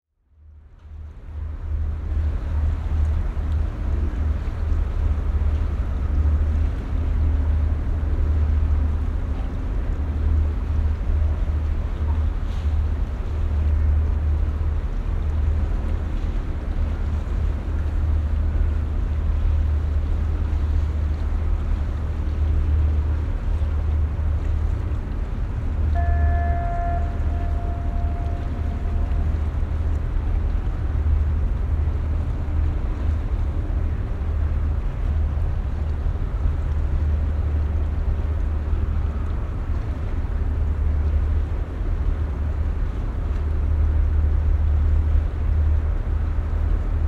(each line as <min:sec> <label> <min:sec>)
0:00.1 ship 0:47.0
0:23.5 air traffic 0:33.9